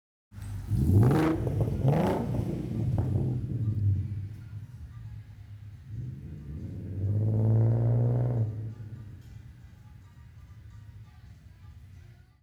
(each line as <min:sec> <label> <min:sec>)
0:00.4 Muscle Car Throttle Blips and Take Off 0:11.0
0:00.4 traffic 0:12.2